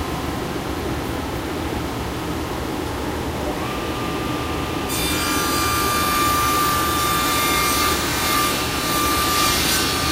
Smaller bench saw 4.9 - 10.1

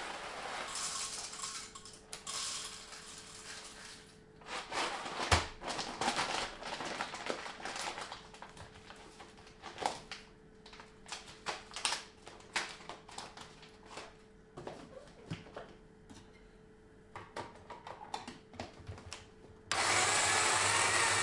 grinding coffee beans 0.0 - 3.9
central gas heating 0.0 - 21.2
grinding coffee beans 19.7 - 21.2

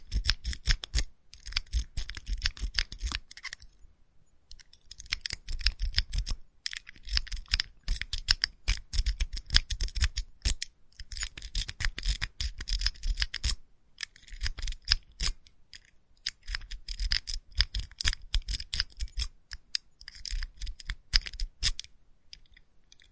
Lock being raked open 1.4 - 3.8

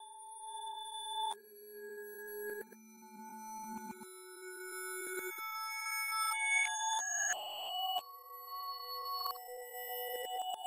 bells made from sine wave 0.0 - 10.6

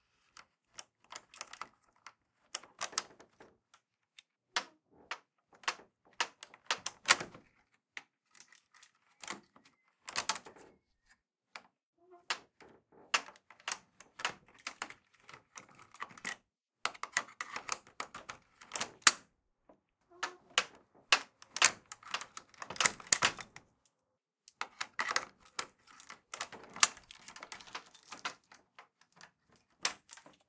old padlock keys being rattled and handled 8.2 - 9.5
old padlock keys being rattled and handled 24.8 - 30.4

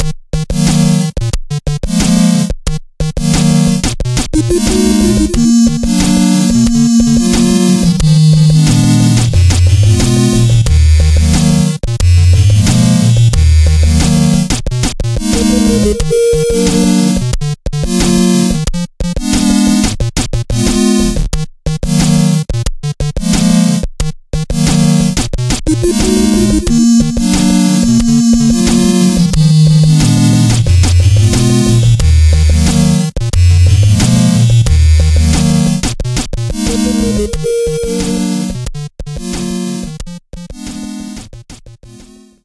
8bit tune 4.4 - 14.5
8bit tune 15.2 - 17.2
8bit tune 25.7 - 35.8
8bit tune 36.5 - 38.6

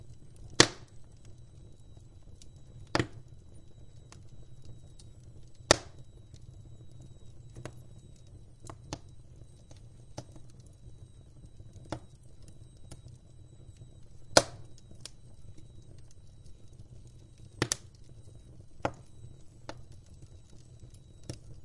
oak wood burning in my old tiled stove 0.0 - 21.6

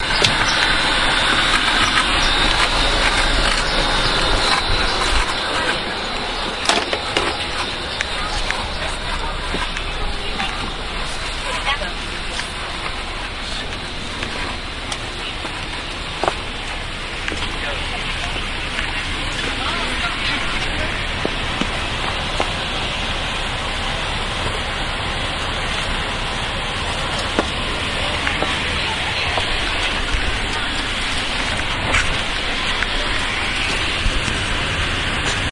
motor 0.0 - 35.5
walking into a bus 0.0 - 35.5

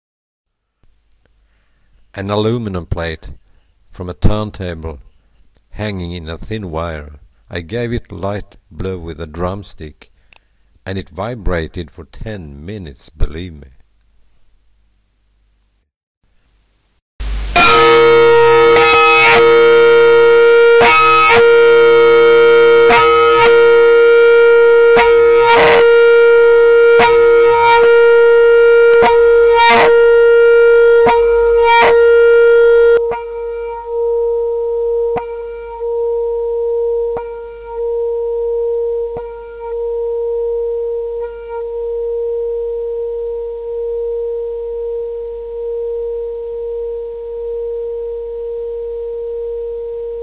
vibration 17.2 - 50.2

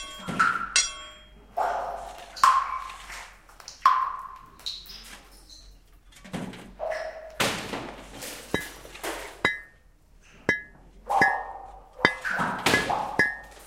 digging 7.5 - 9.8
digging 10.5 - 13.6

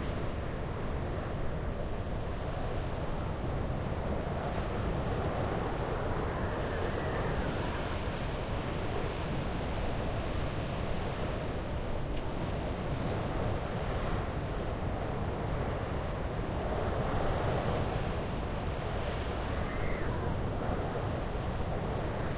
wind 0.0 - 22.3

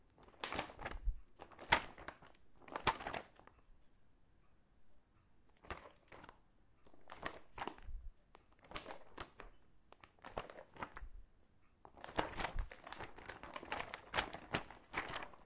paper stir 11.9 - 15.4

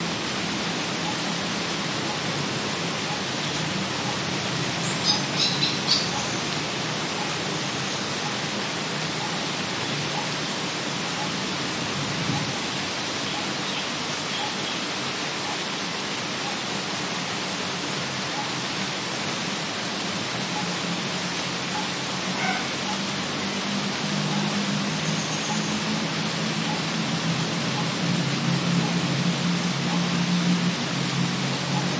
light rain 0.0 - 31.9

